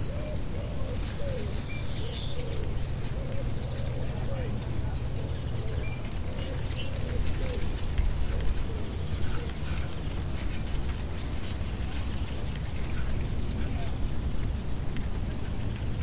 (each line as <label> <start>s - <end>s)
Birds 0.0s - 16.0s
light wind in the corn 0.0s - 16.0s